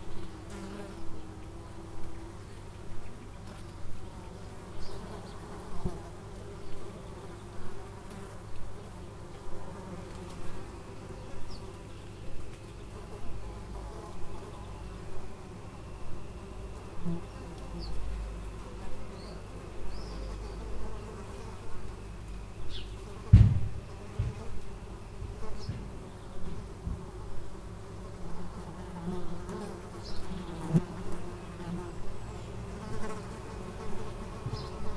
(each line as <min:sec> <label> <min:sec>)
0:00.0 bees & wasps 0:34.9